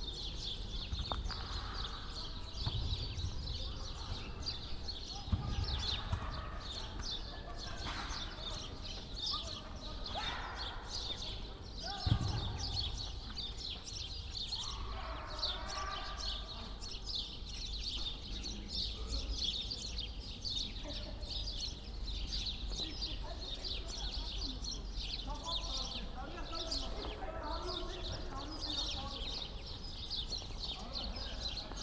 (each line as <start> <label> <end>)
1.1 youngsters playing soccer 8.0
11.5 youngsters playing soccer 13.4